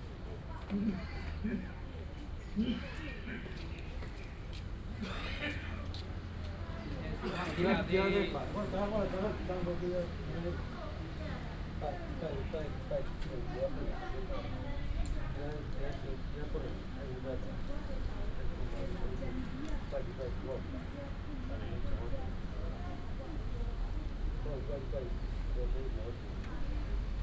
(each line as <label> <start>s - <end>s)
Group of elderly people 0.1s - 27.2s